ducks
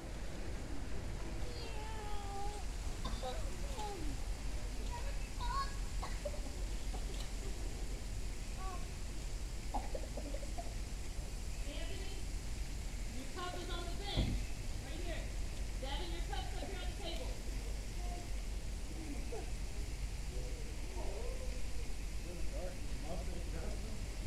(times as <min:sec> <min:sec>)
0:09.7 0:10.8